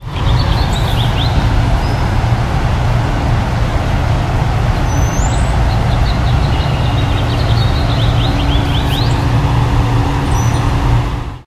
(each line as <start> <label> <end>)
0.0 bird song 2.1
0.0 wind 11.4
4.8 bird song 9.5
10.2 bird song 10.8